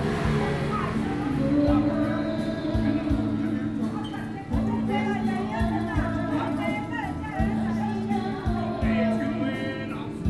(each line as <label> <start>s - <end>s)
Traffic Sound 0.0s - 7.3s
Tourists 0.0s - 10.2s